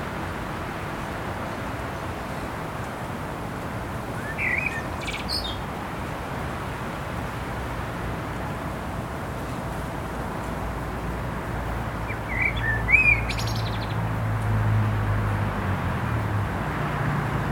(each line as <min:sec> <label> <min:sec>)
0:00.0 traffic noise 0:17.5
0:04.1 bird song 0:05.7
0:12.0 bird song 0:14.1